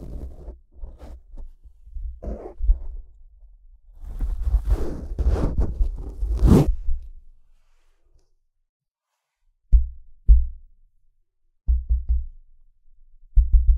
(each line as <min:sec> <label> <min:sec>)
0:00.0 microphone being adjusted 0:03.0
0:04.0 microphone being adjusted 0:07.1
0:11.7 tapping on the microphone 0:12.3